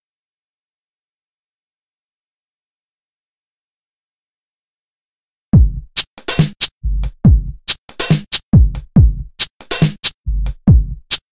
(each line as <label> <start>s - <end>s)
drums 5.6s - 11.3s